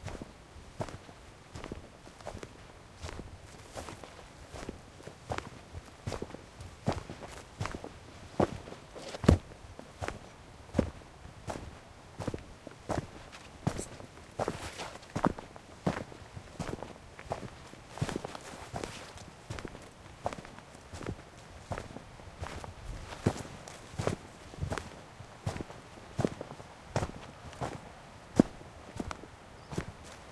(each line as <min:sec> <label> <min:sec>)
0:12.3 footsteps 0:26.4